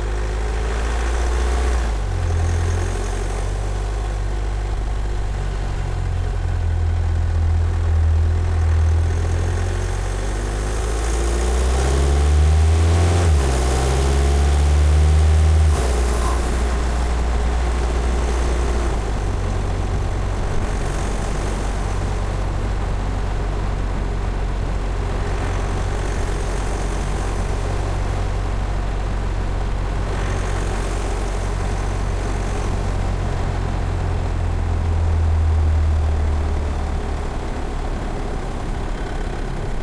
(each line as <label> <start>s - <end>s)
MERCEDES long drive with speed 0.0s - 39.8s
engine 0.0s - 39.8s